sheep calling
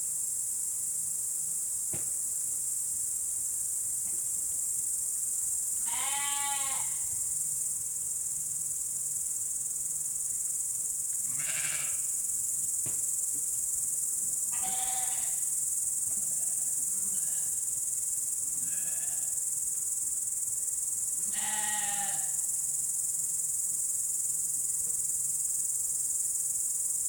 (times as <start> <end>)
5.8 7.0